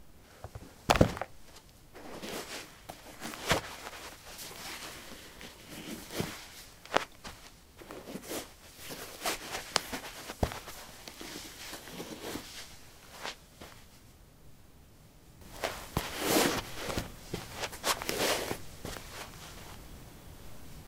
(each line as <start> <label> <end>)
0.4 footsteps 13.9
0.5 Getting sport shoes on/off 1.4
2.0 Getting sport shoes on/off 12.4
15.4 Getting sport shoes on/off 19.7
15.4 footsteps 19.8